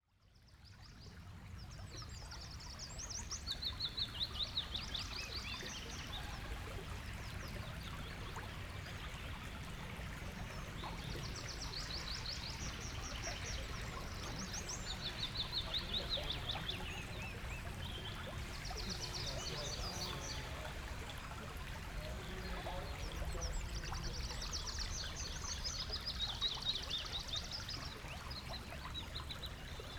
birds 2.5 - 29.9

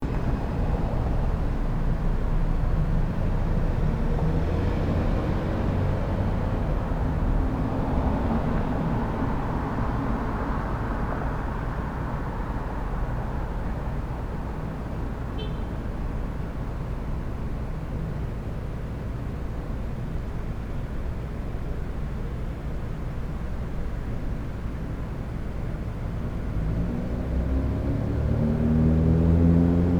traffic 0.0 - 29.9

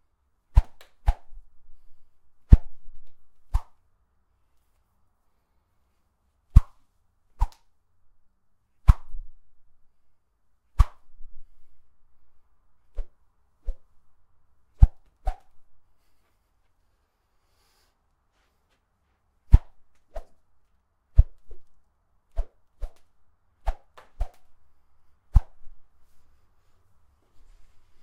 Whip 0.6 - 1.3
Whip 3.5 - 3.8
Whip 6.6 - 6.8
Whip 8.9 - 9.2
Whip 10.8 - 11.0
Whip 22.4 - 24.5

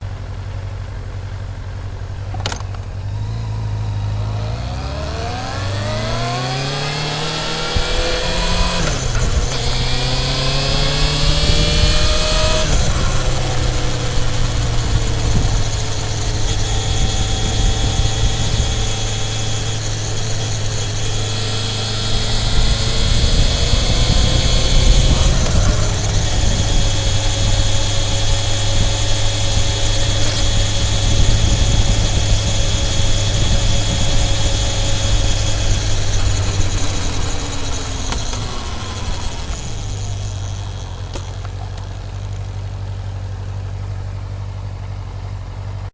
engine running 0.0 - 45.9
gear shifts 2.0 - 45.8
wind noise 4.5 - 41.3

